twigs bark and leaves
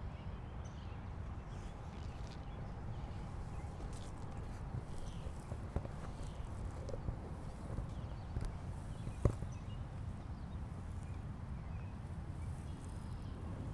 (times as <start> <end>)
1.2 10.1